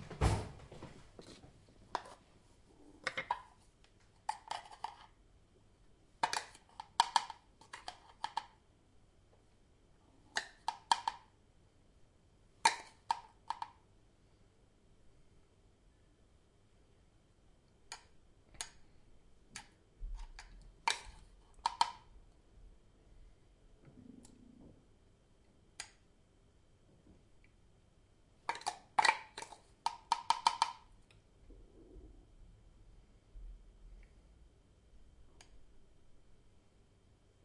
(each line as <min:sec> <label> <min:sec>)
0:00.0 central gas heating 0:37.4
0:03.0 preparing a pot with milk 0:05.2
0:28.5 preparing a pot with milk 0:30.9